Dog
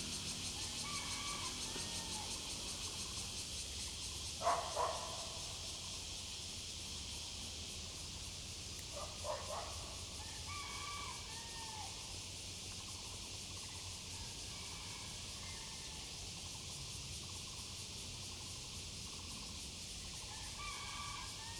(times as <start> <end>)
4.4 5.2, 9.0 9.8